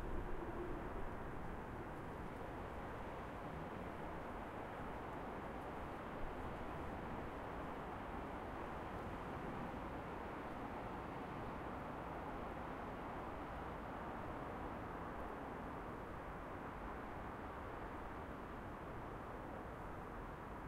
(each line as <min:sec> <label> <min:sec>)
0:00.0 passenger train 0:06.8